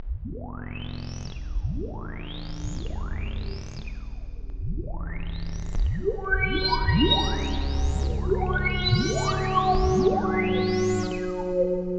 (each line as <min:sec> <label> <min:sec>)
0:06.0 Boiling and Whistling Sci-Fi Pads 0:11.9